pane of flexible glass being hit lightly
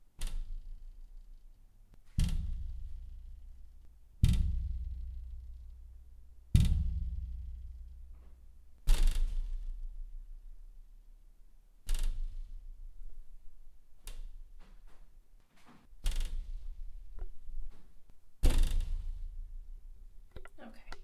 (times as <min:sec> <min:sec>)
0:02.0 0:03.5, 0:06.5 0:10.3, 0:18.4 0:19.5